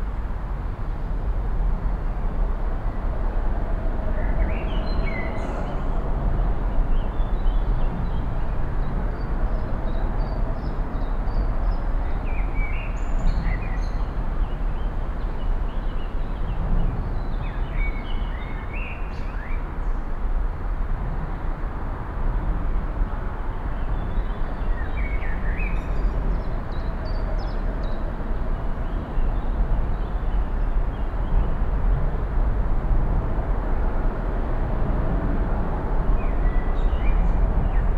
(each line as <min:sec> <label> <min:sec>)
0:00.0 traffic 0:37.9
0:00.0 wind in the trees 0:37.9
0:09.2 birds singing 0:19.7
0:23.8 birds singing 0:28.0
0:36.2 birds singing 0:37.9